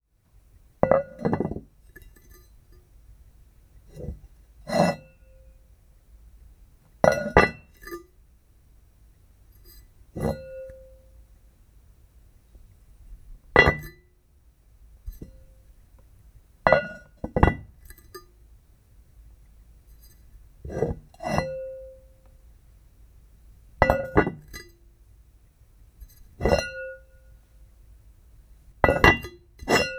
0.8s Placing and removing a medium ceramic lid on a ceramic surface 2.5s
3.9s Placing and removing a medium ceramic lid on a ceramic surface 5.1s
7.0s Placing and removing a medium ceramic lid on a ceramic surface 8.0s
9.6s Placing and removing a medium ceramic lid on a ceramic surface 10.8s
13.6s Placing and removing a medium ceramic lid on a ceramic surface 14.0s
16.7s Placing and removing a medium ceramic lid on a ceramic surface 18.3s
20.0s Placing and removing a medium ceramic lid on a ceramic surface 21.7s
23.8s Placing and removing a medium ceramic lid on a ceramic surface 24.7s
26.4s Placing and removing a medium ceramic lid on a ceramic surface 27.0s
28.8s Placing and removing a medium ceramic lid on a ceramic surface 29.9s

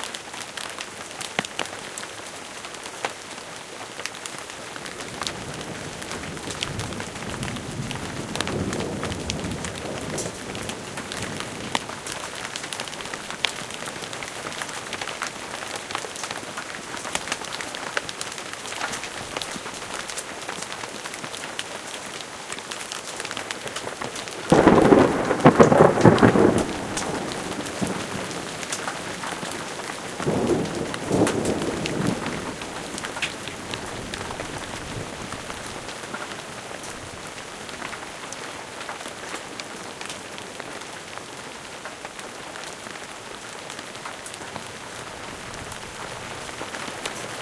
0.0s rain 47.4s
0.1s hail 47.4s
24.5s thunder 35.2s

